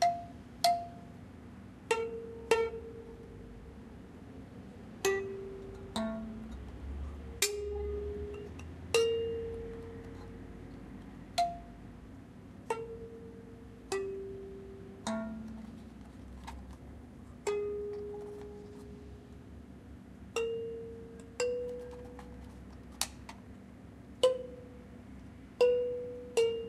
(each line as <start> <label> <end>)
0.0 Plucking and tapping a thumb piano 1.2
0.0 room noise 26.6
1.8 Plucking and tapping a thumb piano 3.8
4.8 Plucking and tapping a thumb piano 12.0
12.6 Plucking and tapping a thumb piano 19.4
20.3 Plucking and tapping a thumb piano 26.6